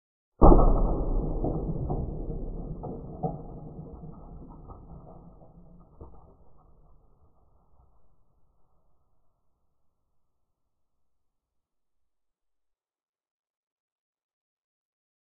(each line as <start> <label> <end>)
0.4 single piece of popcorn popping slowed 16 times 9.0